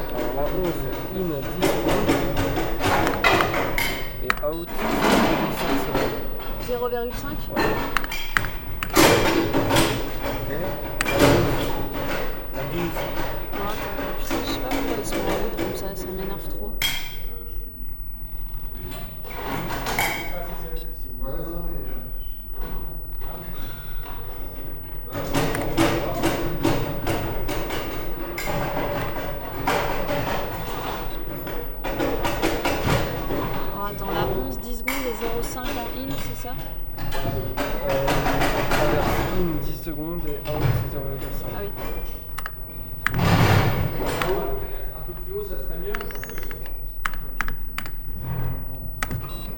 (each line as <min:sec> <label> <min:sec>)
0:00.0 conversations 0:49.5
0:41.2 clicking and programming of the light board 0:48.1